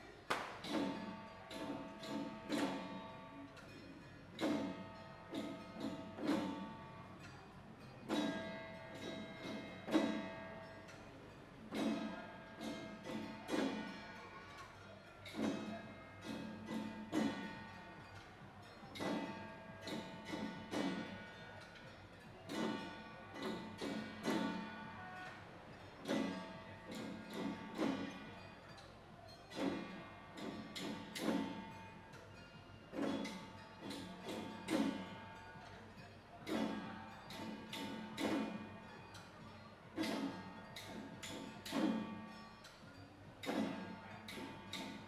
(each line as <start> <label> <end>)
0.0 Traditional festival parade 45.0